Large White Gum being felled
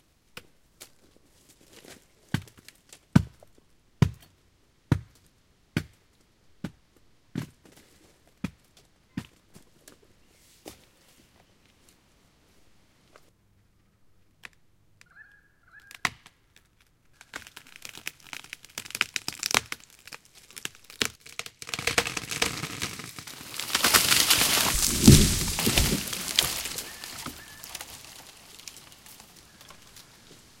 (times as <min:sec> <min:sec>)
0:21.6 0:29.2